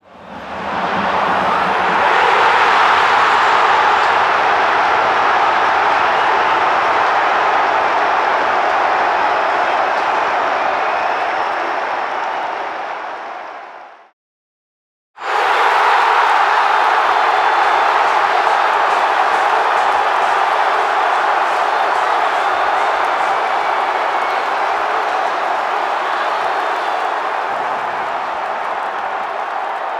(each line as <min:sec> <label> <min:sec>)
0:15.2 explosive reaction of 29,546 fans 0:29.9